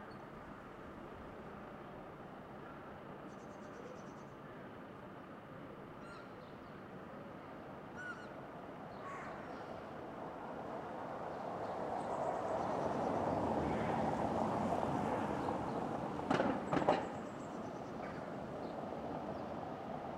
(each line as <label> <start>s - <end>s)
traffic 8.4s - 20.1s